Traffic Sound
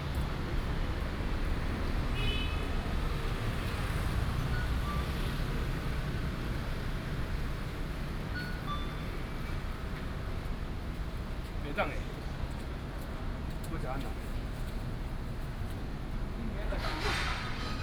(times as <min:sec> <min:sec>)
0:14.7 0:17.8